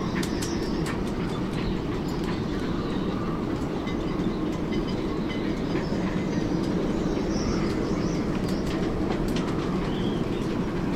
wind is flapping the tarp 0:00.0 - 0:10.9

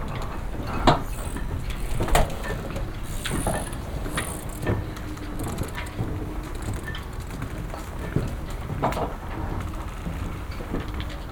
Boats squeaking, creaking, and crackling 0:00.0 - 0:08.7
RF interferences 0:00.7 - 0:08.2

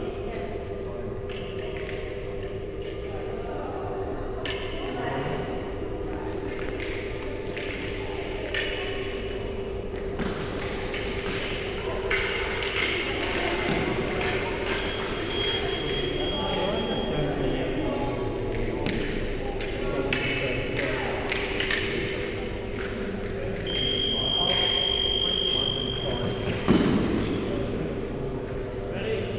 contact alarms 0:14.6 - 0:17.8
contact alarms 0:23.6 - 0:26.4

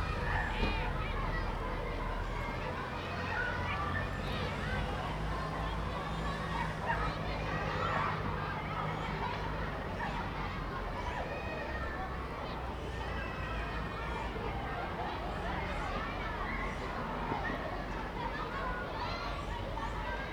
children playing in a nearby school 0:00.0 - 0:20.3

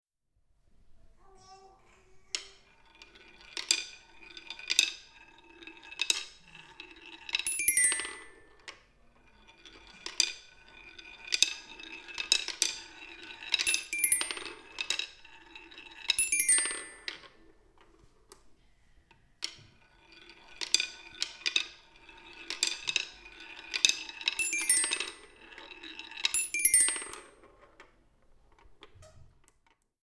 ball path toy 0:01.5 - 0:18.5
ball path toy 0:19.4 - 0:29.8

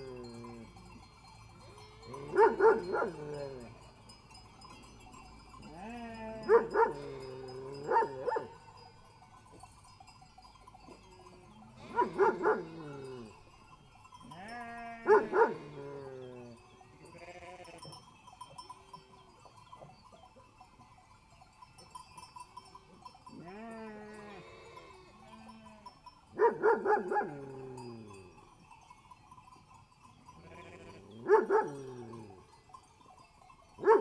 baa's 0:00.0 - 0:04.3
sheep bells 0:00.0 - 0:34.0
dogs barks 0:02.2 - 0:03.5
baa's 0:05.4 - 0:08.7
dogs barks 0:06.4 - 0:07.1
dogs barks 0:07.8 - 0:08.6
baa's 0:10.7 - 0:20.6
dogs barks 0:11.8 - 0:12.8
dogs barks 0:15.0 - 0:15.7
baa's 0:22.6 - 0:28.6
dogs barks 0:26.4 - 0:27.7
baa's 0:29.7 - 0:32.5
dogs barks 0:31.2 - 0:32.2
baa's 0:33.8 - 0:34.0
dogs barks 0:33.8 - 0:34.0

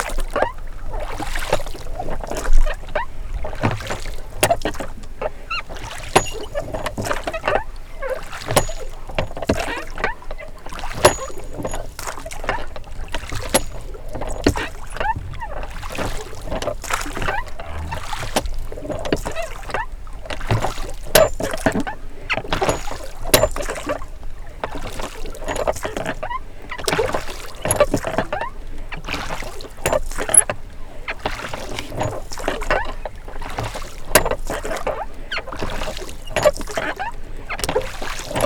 Paddling boat 0:00.0 - 0:38.4

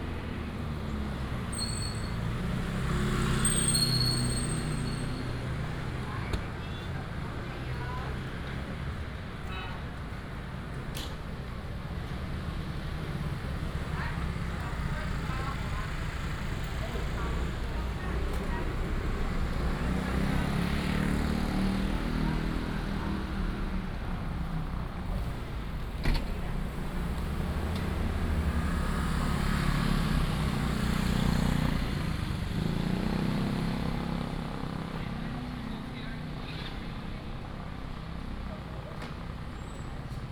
Traffic sound 0:00.0 - 0:40.3

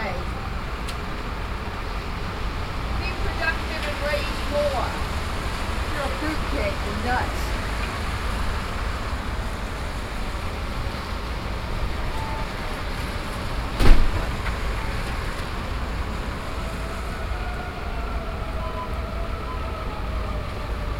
Road traffic 0:00.0 - 0:20.9
Flute 0:12.1 - 0:12.7
Door 0:13.8 - 0:14.6
Flute 0:16.8 - 0:20.9

